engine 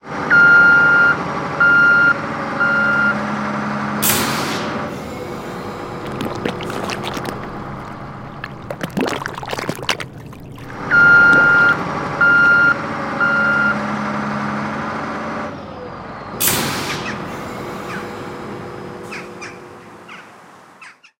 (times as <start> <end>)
0.0 5.4, 11.9 20.8